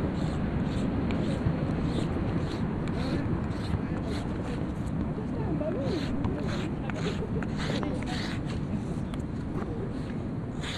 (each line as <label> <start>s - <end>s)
dialogues 2.8s - 8.9s